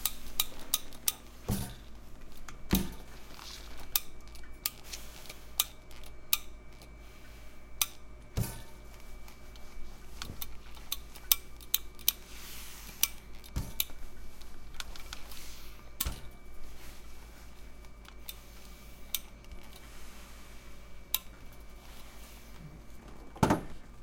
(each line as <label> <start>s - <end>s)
her machines 0.0s - 24.0s
Steam Iron 4.7s - 22.6s